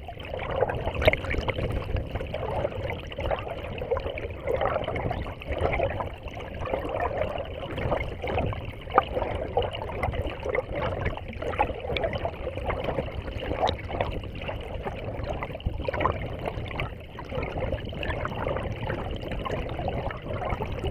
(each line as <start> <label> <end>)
0.0 river 20.9